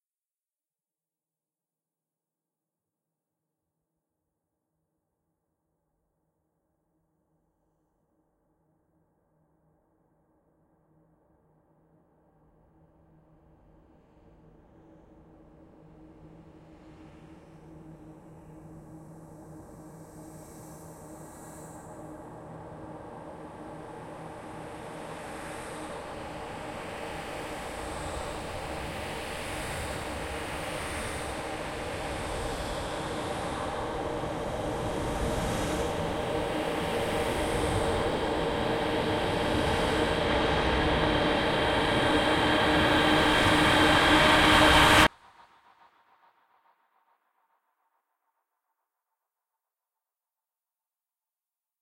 37.8s Riser 45.1s

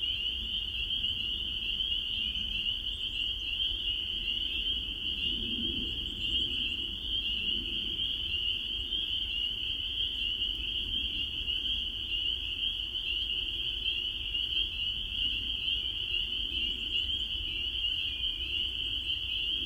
0.0s spring peepers 19.6s

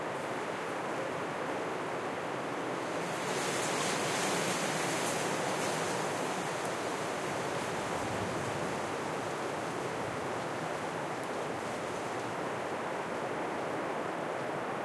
2.7s wind gust hits a tree's branches 13.8s

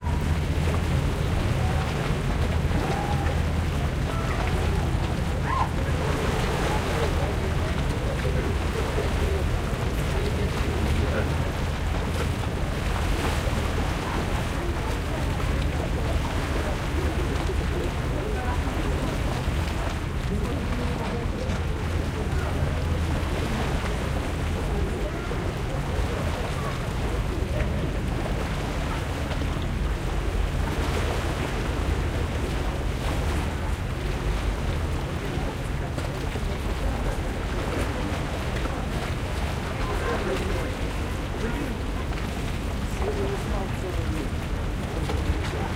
0.0s water lapping 45.7s

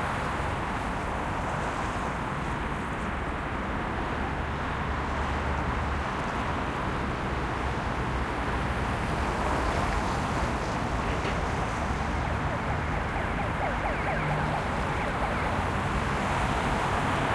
0.0s Medium traffic 17.3s
11.5s ambulance wails 17.3s

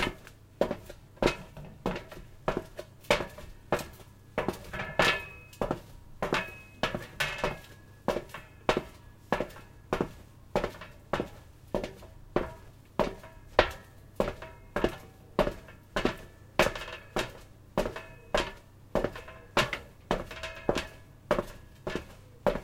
0.0s Metal Footsteps 22.6s

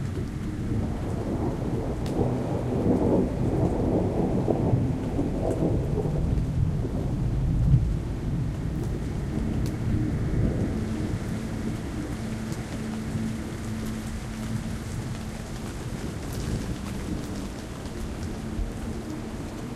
0.0s rain 19.7s
0.0s thunder 19.7s

